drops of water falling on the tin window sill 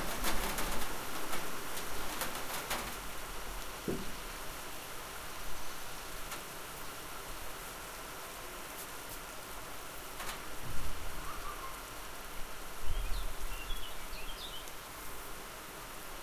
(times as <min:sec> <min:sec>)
0:00.0 0:04.2